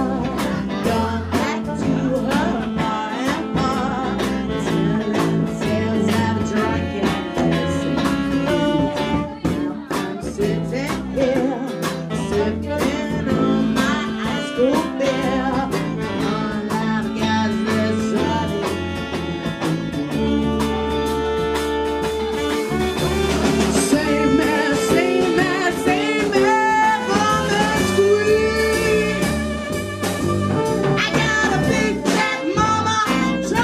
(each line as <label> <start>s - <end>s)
song reappears, being sung 23.3s - 29.4s